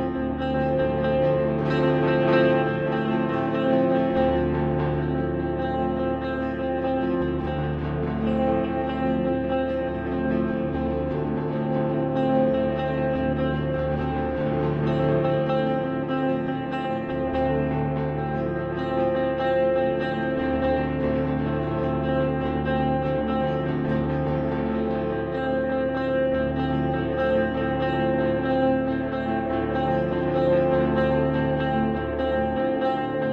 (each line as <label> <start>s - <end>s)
Electric mandocello drone 0.0s - 33.3s